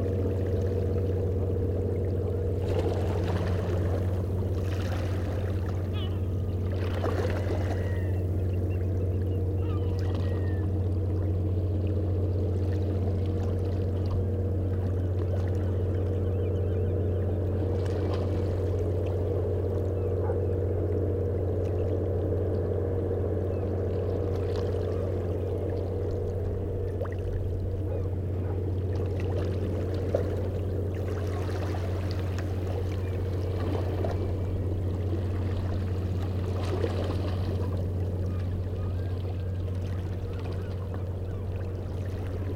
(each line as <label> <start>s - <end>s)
Ferry leaving the harbour 0.0s - 42.5s